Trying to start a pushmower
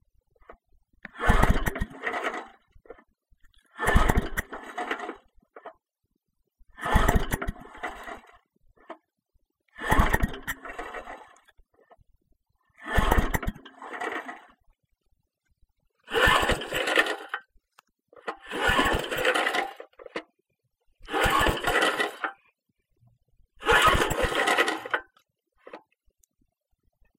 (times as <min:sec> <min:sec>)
0:00.4 0:05.8, 0:06.7 0:09.1, 0:09.7 0:12.0, 0:12.8 0:14.6, 0:16.0 0:20.4, 0:21.0 0:22.5, 0:23.6 0:26.0